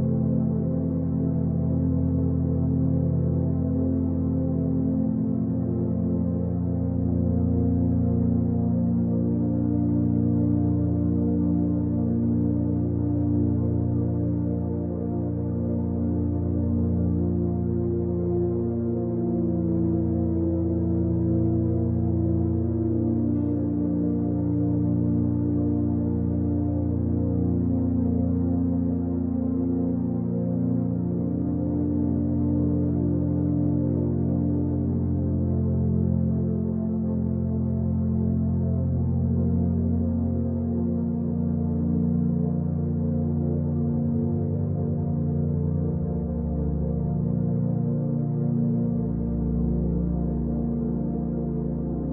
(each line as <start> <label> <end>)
0.0 Ambient pad 52.1